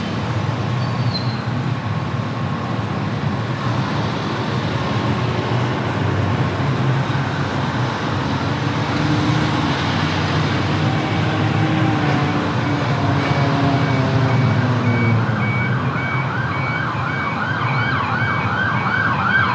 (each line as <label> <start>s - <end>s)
wind 0.0s - 19.5s
motorcycle 2.8s - 15.3s
ambulance 9.8s - 19.5s
reverse beeps 13.2s - 16.3s